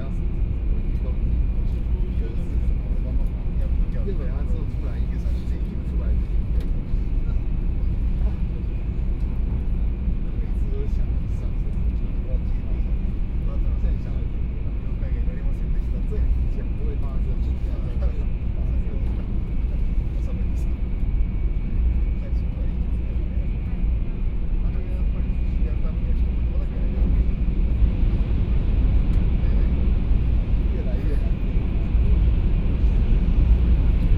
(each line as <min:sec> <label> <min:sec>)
0:00.0 High - speed railway 0:34.1